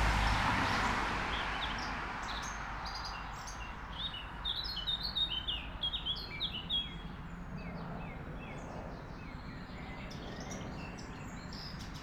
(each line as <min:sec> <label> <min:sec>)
0:00.0 cars passing by 0:04.2